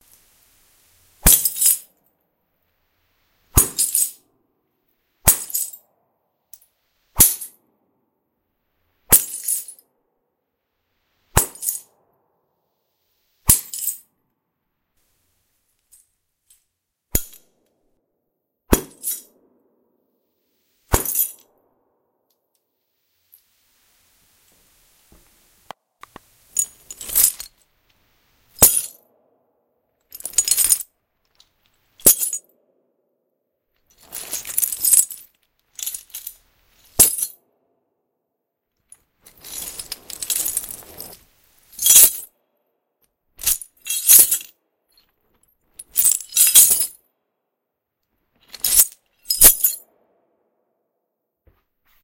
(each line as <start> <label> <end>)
1.2 bag of broken glass punched with a bamboo stick 1.8
3.6 bag of broken glass punched with a bamboo stick 4.1
18.7 bag of broken glass punched with a bamboo stick 19.2
20.9 bag of broken glass punched with a bamboo stick 21.4